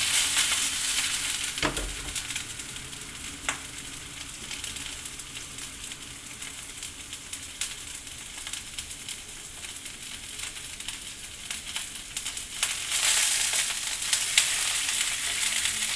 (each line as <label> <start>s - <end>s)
run water in the sink 0.0s - 2.4s
boil up some water 0.0s - 15.9s
fry up some sausages 0.0s - 15.9s
run water in the sink 13.6s - 15.9s